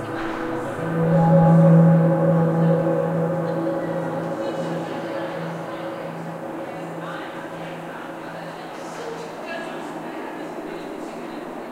sweep 0.0 - 8.7
synths 0.0 - 9.0
voices 0.0 - 11.7

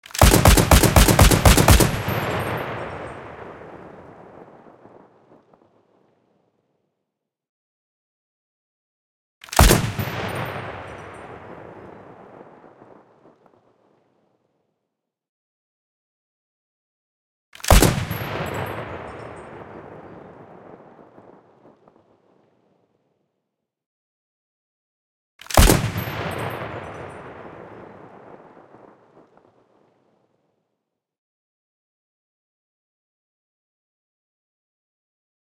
slow firing heavy weapon 0.0 - 5.7
slow firing heavy weapon 9.4 - 14.0
slow firing heavy weapon 25.4 - 30.0

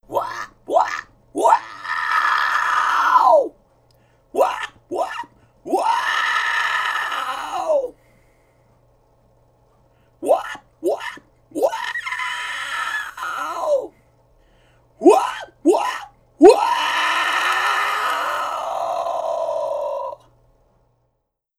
harpy crying 0.1 - 3.5
harpy crying 4.4 - 7.9
harpy crying 10.2 - 13.9
harpy crying 15.0 - 20.2

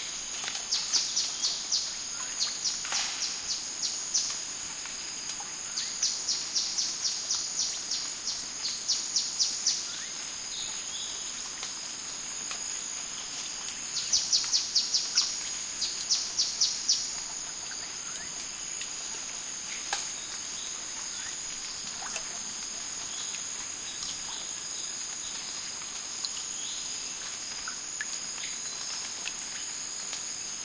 crickets 0.0 - 30.6
water drops on plants 2.8 - 3.5
water drops on plants 19.6 - 24.4

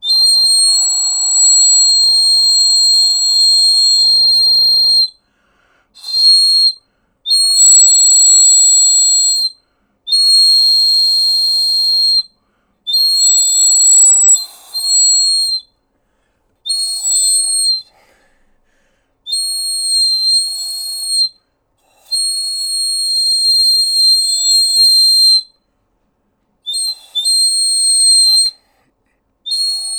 dog whistle 0.0 - 5.2
dog whistle 6.0 - 12.3
dog whistle 12.9 - 15.7
dog whistle 16.7 - 17.9
dog whistle 19.3 - 21.4
dog whistle 22.1 - 25.6
dog whistle 26.7 - 28.6
dog whistle 29.5 - 29.9

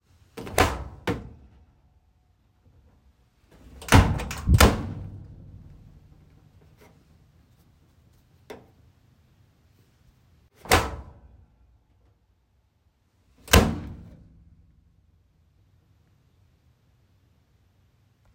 Household dryer door being opened and closed 0.4 - 1.4
Household dryer door being opened and closed 3.5 - 5.1
Household dryer door being opened and closed 13.4 - 14.1

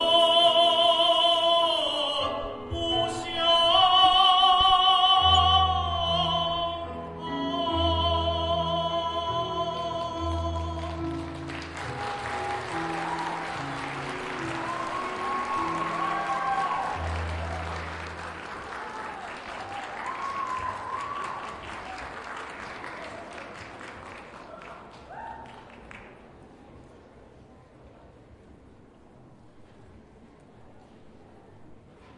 orchestra 0.0 - 20.9
opera 0.0 - 26.0
audience 0.0 - 26.8

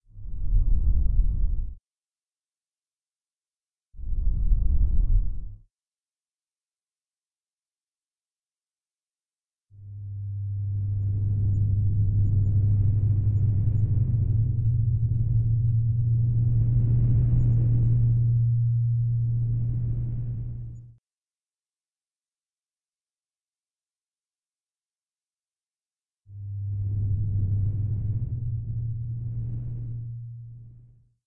bass-y panning 9.9 - 20.9
bass-y panning 26.4 - 31.0

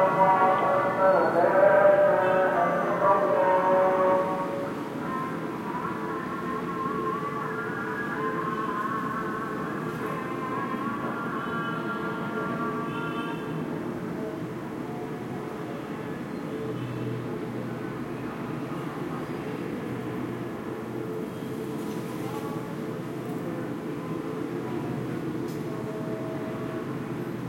call to prayer 0.0 - 13.7
noise from the traffic 0.0 - 27.4

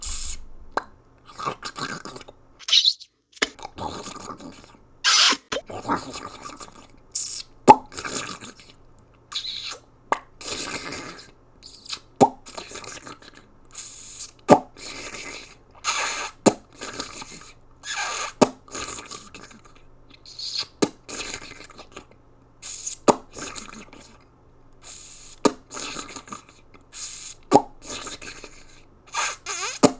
pops 0.0 - 0.9
munches 2.6 - 3.5
pops 2.6 - 3.6
Squeaks 5.1 - 5.6
pops 29.1 - 29.9
Squeaks 29.2 - 29.9

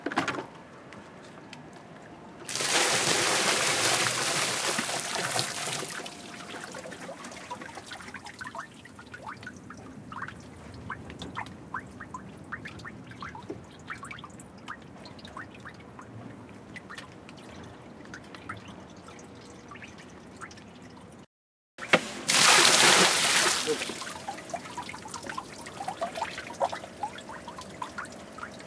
water pour dump from bucket onto street and into drain 2.5 - 9.4
water pour dump from bucket onto street and into drain 21.8 - 28.6

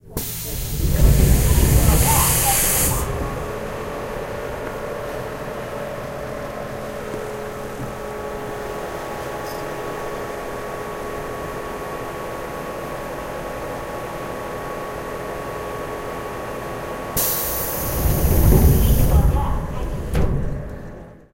Metro doors open close 0.0 - 10.3
Metro doors open close 17.1 - 21.3
Information doors open close in Korean 17.2 - 21.2

